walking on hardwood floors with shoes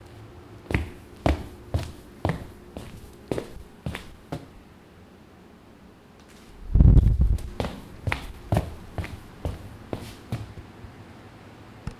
0.0 4.6, 7.3 10.6

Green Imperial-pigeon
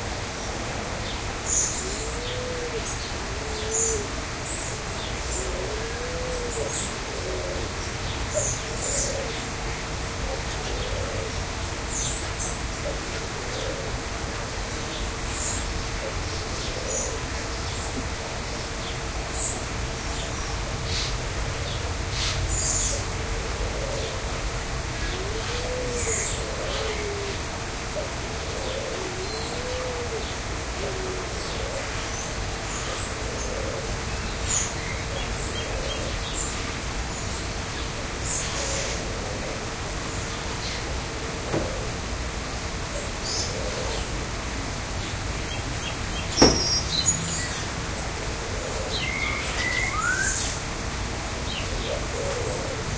1.5 9.5, 14.7 17.8, 28.0 42.0, 43.0 44.3, 51.5 52.9

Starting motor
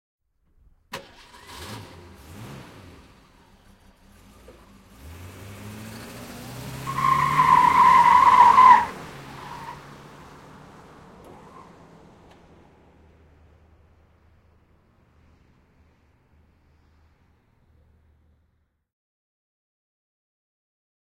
0.9 2.4

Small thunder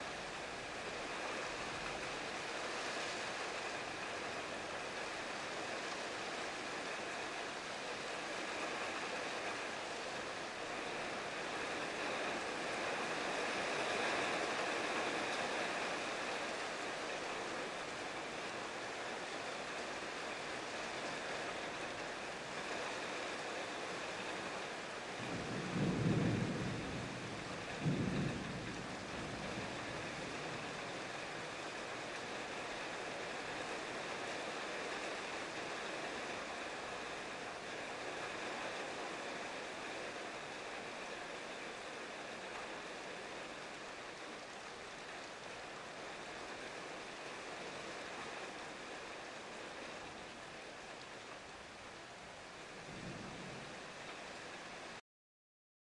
25.2 29.8

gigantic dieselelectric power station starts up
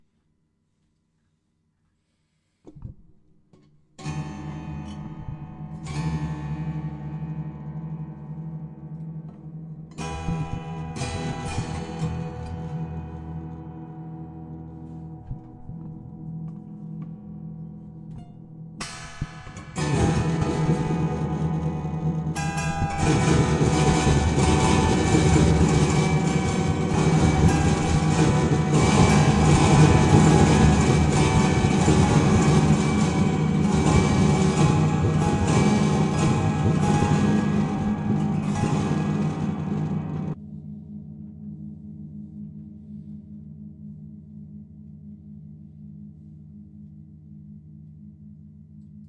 19.1 40.4

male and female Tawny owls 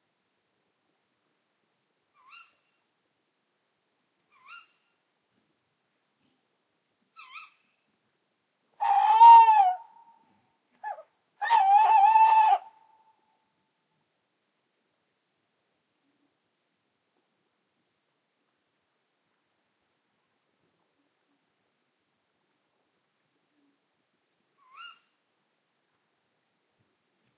2.1 2.8, 4.3 4.9, 7.2 7.7, 24.6 25.2

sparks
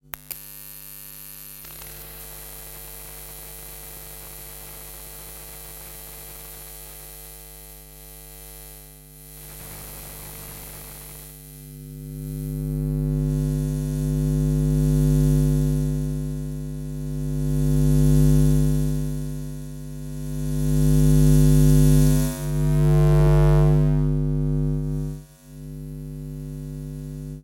0.1 7.4, 9.3 11.7

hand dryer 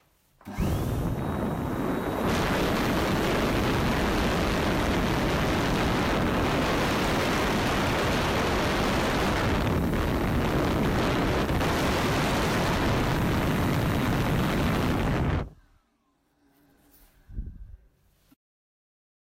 0.4 15.5

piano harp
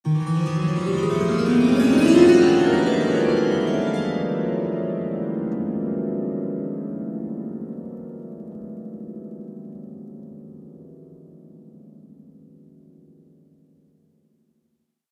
0.1 9.8

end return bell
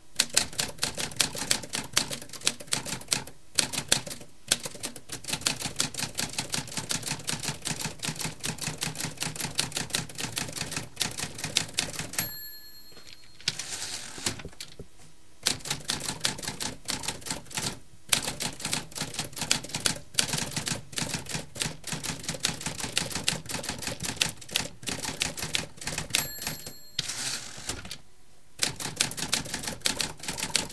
12.2 13.6, 26.2 27.1

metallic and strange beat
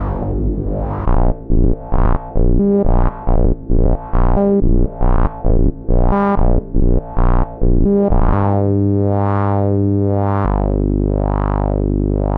0.0 8.4

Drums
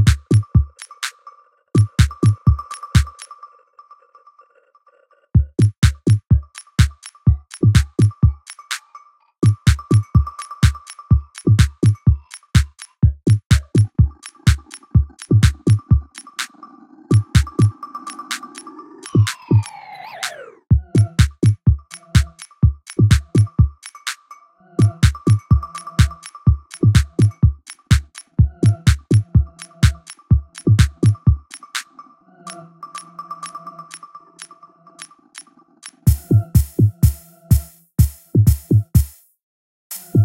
5.4 6.9, 12.6 14.6, 20.7 22.3, 22.9 23.6, 26.8 31.4, 36.1 39.3, 39.9 40.2

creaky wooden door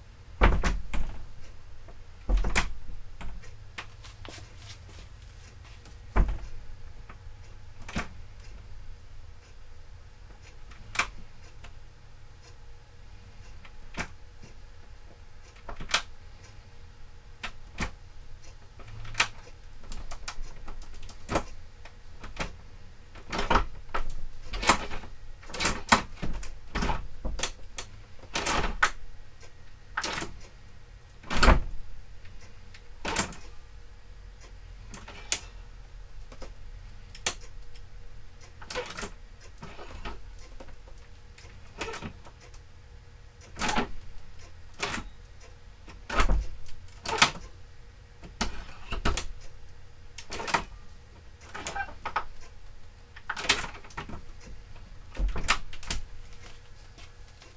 51.4 52.2

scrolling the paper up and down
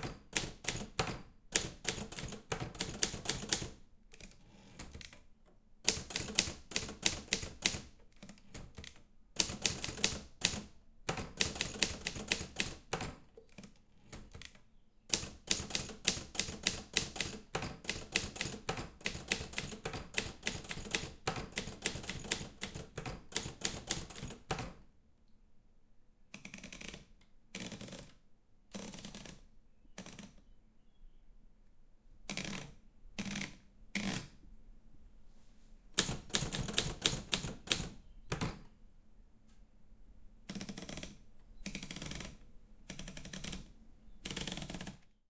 26.4 30.5, 40.5 45.2

